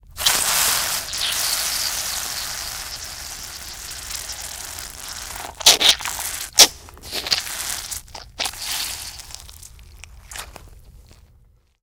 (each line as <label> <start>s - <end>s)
steady spray 0.0s - 8.0s
several loud spurts 0.0s - 9.3s